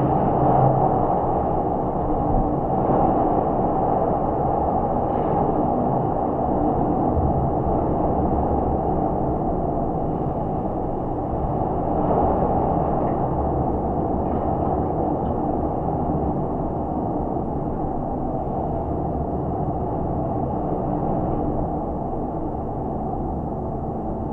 0.0s Very windy 24.3s

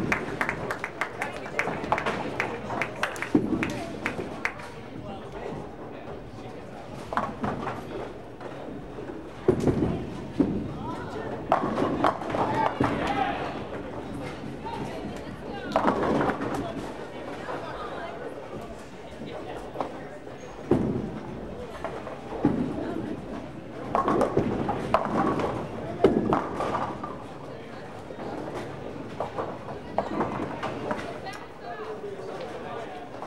0.0s Appreciative bowlers 33.2s

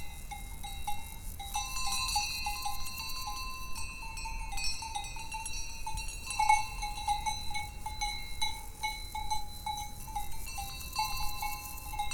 0.0s insectes dans les herbes 12.1s

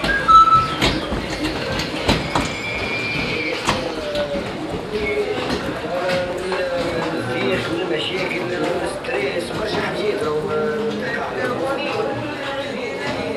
0.0s Walking inside the crowded Souks 13.3s
0.0s music coming from the shops 13.3s
0.0s voices and movements 13.3s

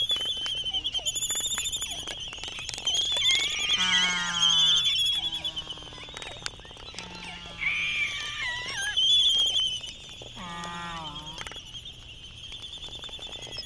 1.4s Laysan albatross dancing 11.6s

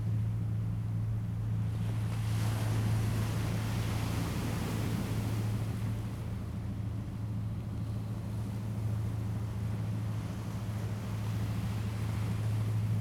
0.9s waves 13.0s

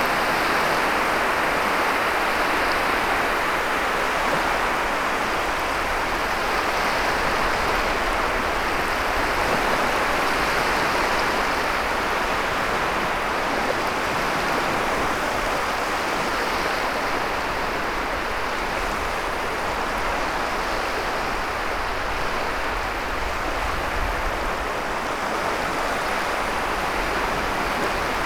0.1s Small waves 28.2s

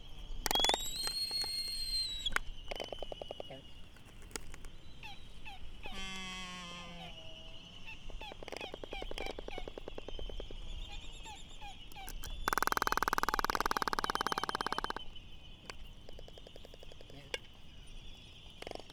0.0s red-tailed tropic birds 18.9s
3.3s voices 3.8s
17.0s voices 17.5s

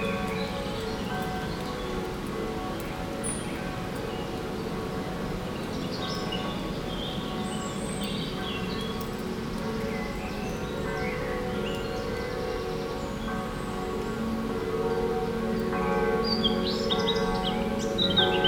0.0s Faraway bells 18.4s
16.2s birds singing 18.4s

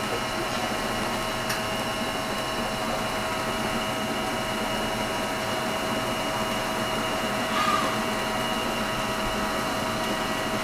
6.6s Feed delivery piping voice 10.6s
7.3s Dogs barking 8.5s

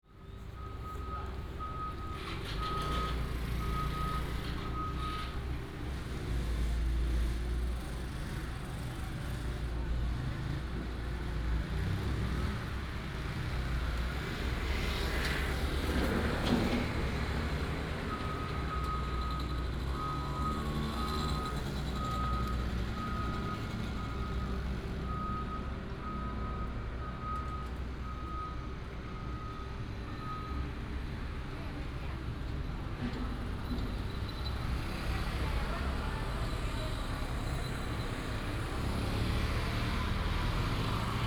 2.1s motorcycle 18.8s
31.8s motorcycle 41.2s

